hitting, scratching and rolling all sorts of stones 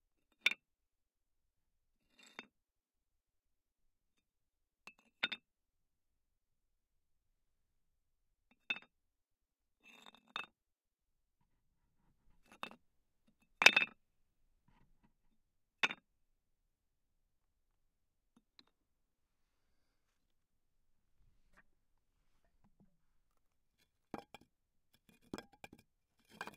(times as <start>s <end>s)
24.1s 26.5s